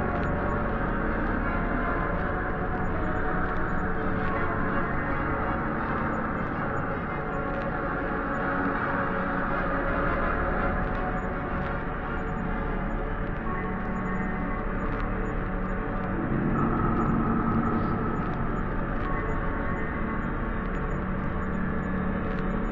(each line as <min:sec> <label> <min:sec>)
0:16.1 Creepy Classical Music 01 0:20.1